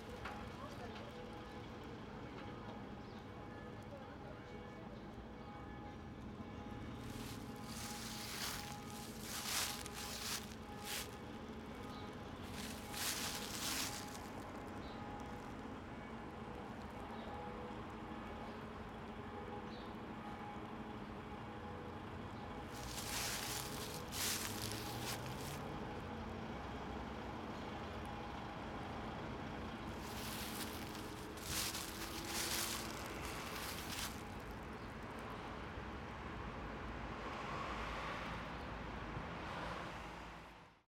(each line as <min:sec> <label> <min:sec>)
0:07.0 Dryleaves 0:14.5
0:22.7 Dryleaves 0:25.6
0:29.9 Dryleaves 0:34.6